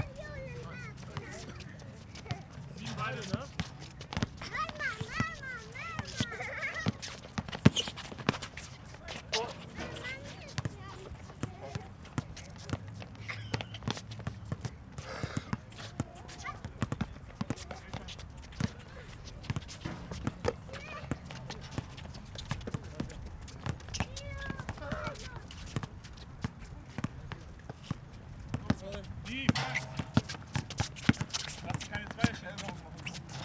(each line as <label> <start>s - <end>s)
streetball player 0.0s - 33.4s